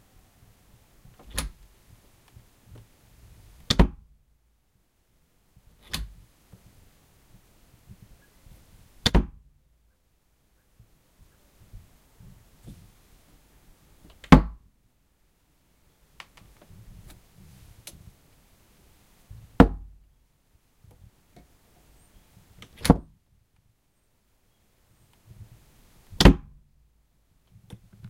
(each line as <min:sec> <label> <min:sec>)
0:01.1 Door being opened and closed 0:01.7
0:03.6 Door being opened and closed 0:04.0
0:05.8 Door being opened and closed 0:06.2
0:09.0 Door being opened and closed 0:09.4
0:22.6 Door being opened and closed 0:23.1
0:26.2 Door being opened and closed 0:26.5